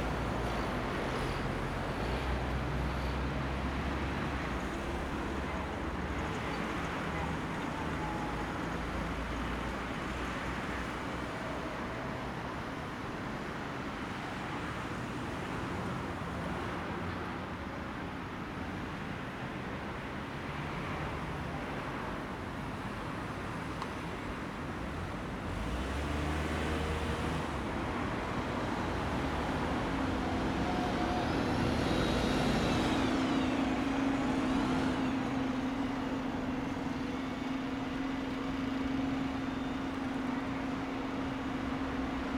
traffic 0:00.0 - 0:42.3

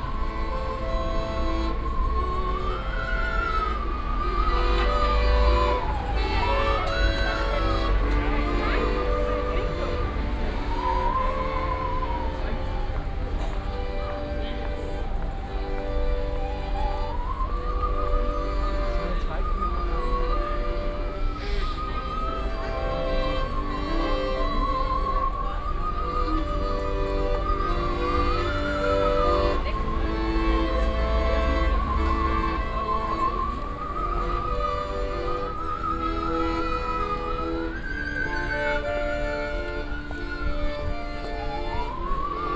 Ave Maria played on saw 0:00.3 - 0:42.5

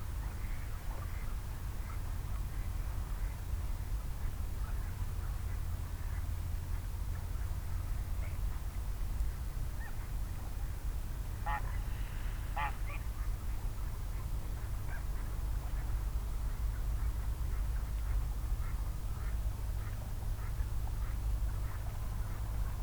wild geese 0:11.3 - 0:13.5
ducks 0:11.4 - 0:13.5
other busy animals 0:11.4 - 0:13.4
ducks 0:14.2 - 0:22.8

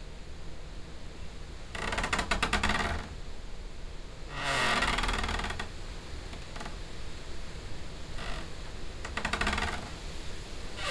tree scraping in tree hut 0:08.2 - 0:10.9

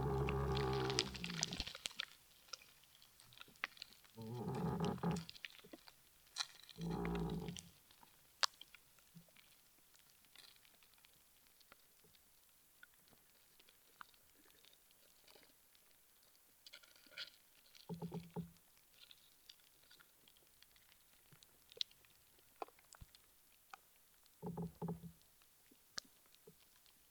ants 0:00.0 - 0:01.6
moaning tree 0:00.0 - 0:01.7
moaning tree 0:04.2 - 0:05.3
moaning tree 0:06.8 - 0:07.7

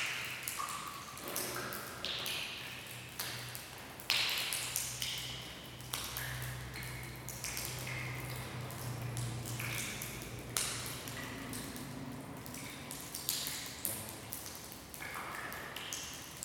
water dripping from the ceiling into the puddle 0:00.0 - 0:16.4
vehicles on the road outside 0:04.6 - 0:15.0

